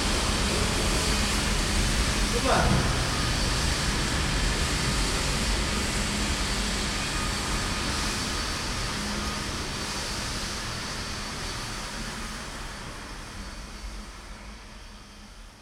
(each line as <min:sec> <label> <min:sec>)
0:02.1 pasengers 0:04.2
0:02.3 cleaning machine 0:04.1